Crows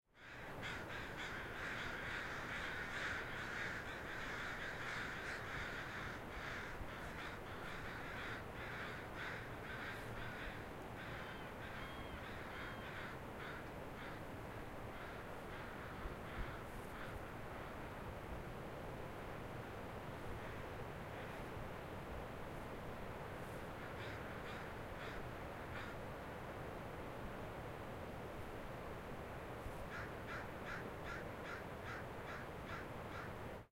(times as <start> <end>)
0.1 14.3, 14.9 17.8, 23.7 26.0, 29.9 33.4